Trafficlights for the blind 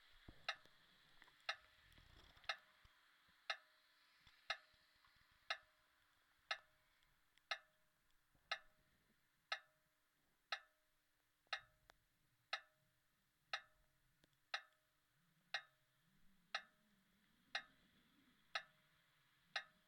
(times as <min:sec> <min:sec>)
0:00.3 0:00.7, 0:01.4 0:02.7, 0:03.4 0:05.8, 0:07.4 0:08.8, 0:10.5 0:10.8, 0:13.5 0:14.9, 0:15.5 0:15.9, 0:16.5 0:16.9, 0:17.5 0:19.8